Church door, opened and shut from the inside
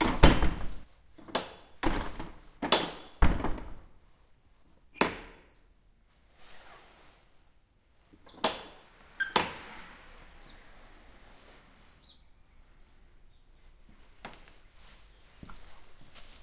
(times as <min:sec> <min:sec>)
0:00.0 0:04.1, 0:04.7 0:05.8, 0:08.1 0:12.4